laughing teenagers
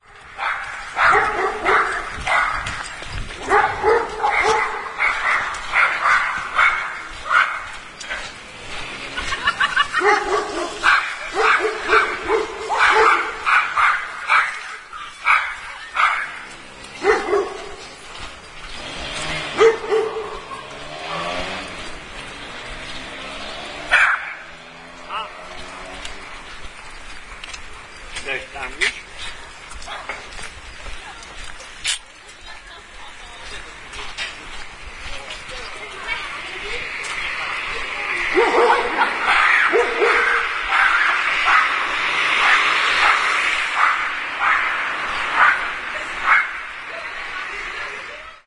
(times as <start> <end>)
8.8 11.4